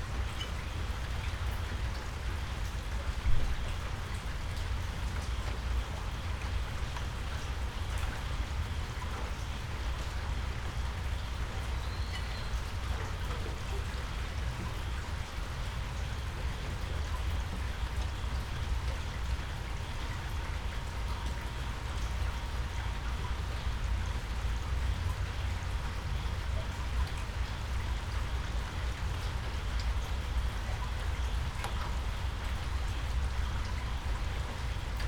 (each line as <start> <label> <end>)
0.0 rain 35.0